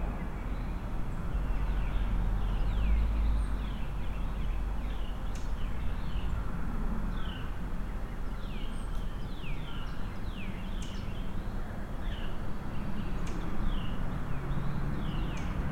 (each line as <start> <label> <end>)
0.0 Traffic sounds 15.7
7.1 Birdsong 15.7